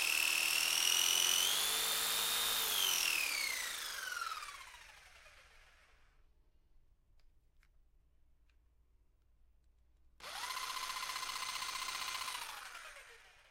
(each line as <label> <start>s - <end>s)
jigsaw being used in the air 0.0s - 6.1s
jigsaw being used in the air 10.2s - 13.5s